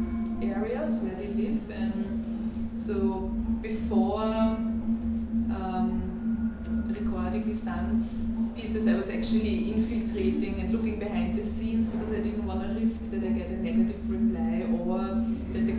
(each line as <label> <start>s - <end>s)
speaking 0.0s - 2.2s
speaking 6.9s - 15.7s